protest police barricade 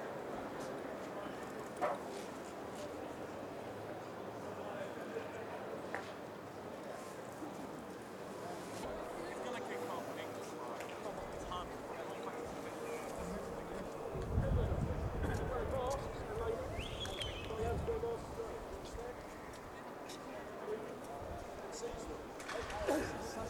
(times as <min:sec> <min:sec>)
0:15.4 0:23.4